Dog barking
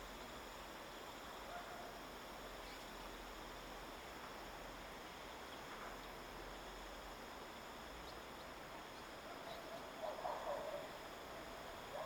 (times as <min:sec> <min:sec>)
0:10.0 0:10.8